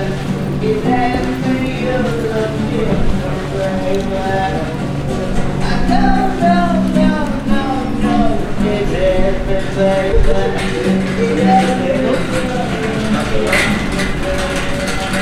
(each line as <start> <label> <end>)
0.0 street musician 15.2